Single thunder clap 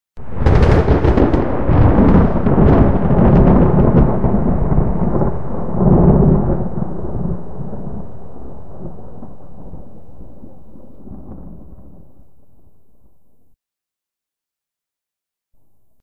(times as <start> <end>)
0.2 12.2